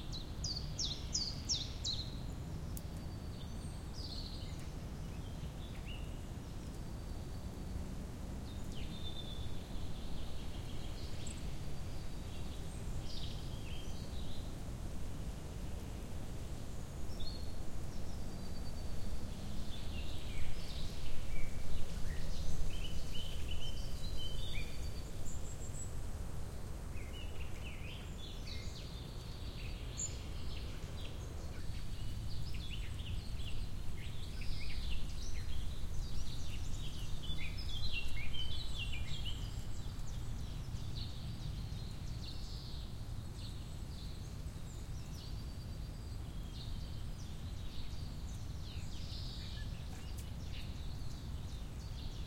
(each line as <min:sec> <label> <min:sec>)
0:00.0 wind 0:52.2
0:16.6 birds 0:52.2